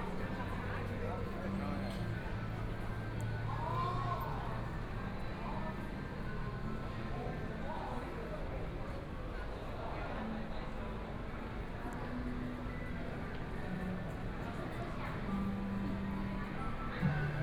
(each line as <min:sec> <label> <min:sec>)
0:00.0 crowd 0:17.4